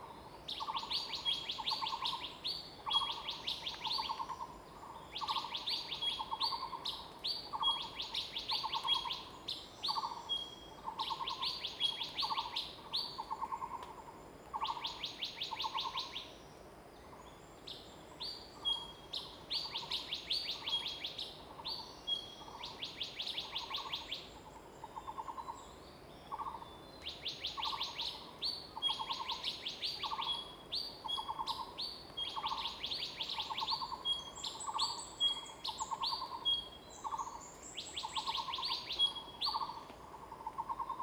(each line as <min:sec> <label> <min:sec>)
0:28.8 Birds singing 0:39.8